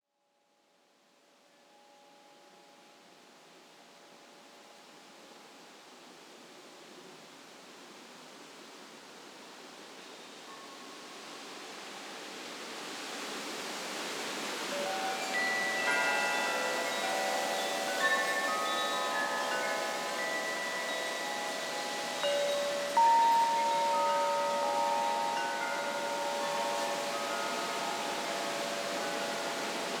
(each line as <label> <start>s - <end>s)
crickets 12.5s - 30.0s
gusty winds 12.8s - 30.0s
windchimes being blown around 14.6s - 30.0s